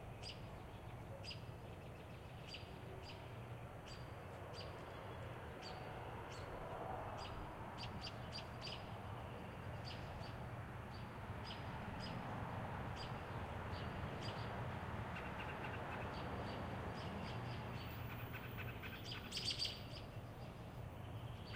American Robins (Turdus Migratorious) who are busy vocalizing 7.2 - 21.5

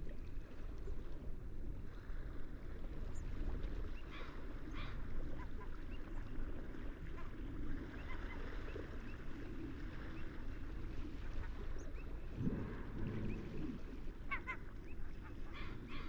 Sea waves 0.4 - 16.0
seagulls 7.0 - 9.2
seagulls 14.3 - 16.0

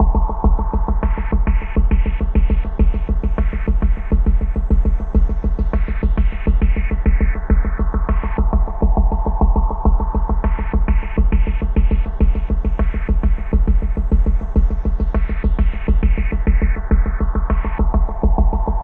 bass 0.0 - 18.8

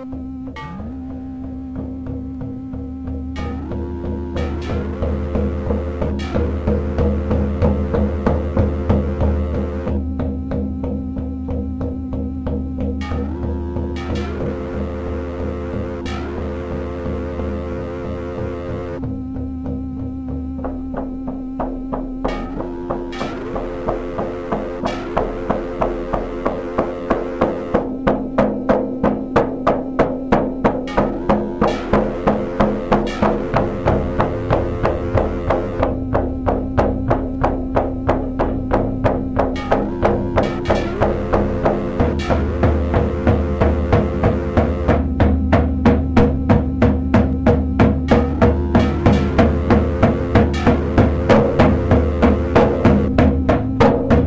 music 0.0 - 54.2

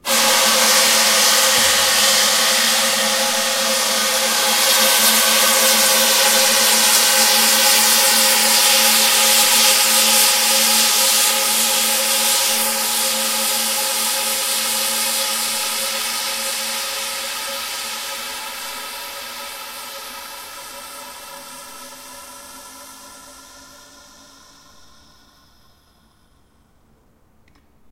percussion 0.0 - 26.6

